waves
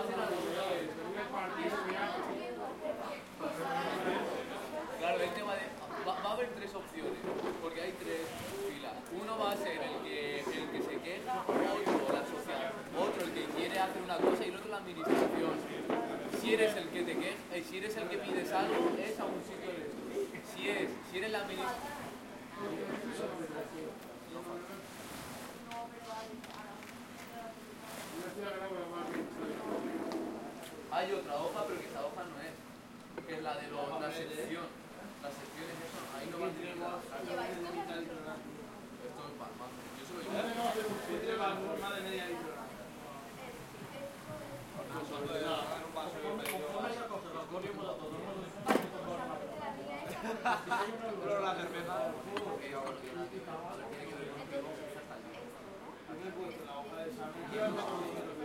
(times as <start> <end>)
0.1 32.6, 34.1 47.5